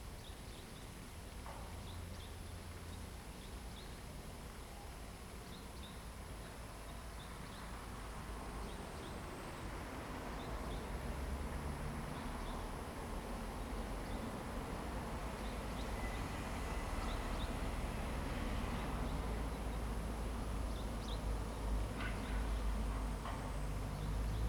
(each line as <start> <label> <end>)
9.7 traffic sound 24.4